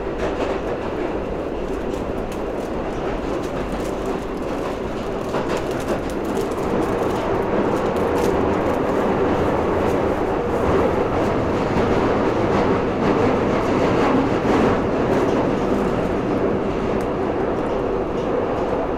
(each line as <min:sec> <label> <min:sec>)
0:00.0 Underground train 0:18.9